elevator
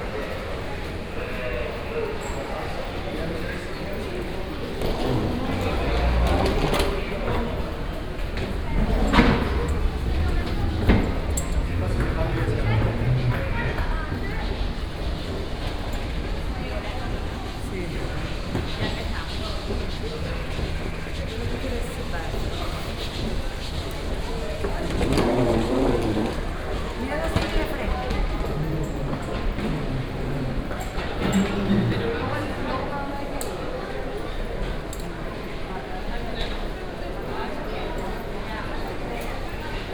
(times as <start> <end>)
4.7 16.2, 24.6 32.1